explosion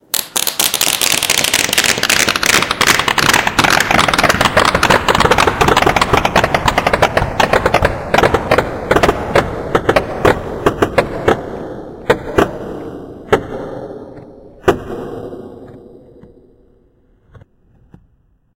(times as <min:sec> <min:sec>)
0:00.0 0:13.9